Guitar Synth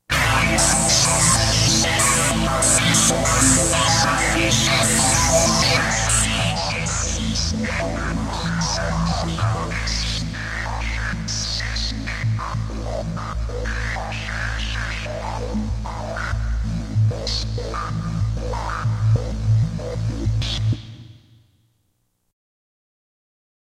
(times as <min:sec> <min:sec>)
0:00.1 0:10.1